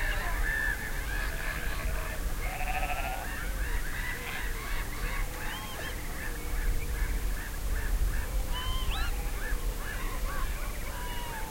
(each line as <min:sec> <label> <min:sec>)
0:00.0 seagulls 0:11.5
0:01.3 sheep 0:03.3